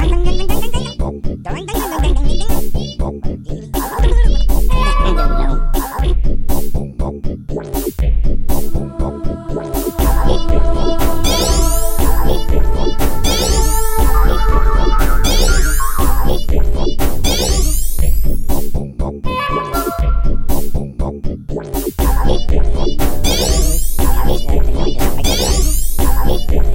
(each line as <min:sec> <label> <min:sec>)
0:03.8 Drum Beat 0:04.9
0:07.6 Drum Beat 0:18.8
0:21.7 Drum Beat 0:26.7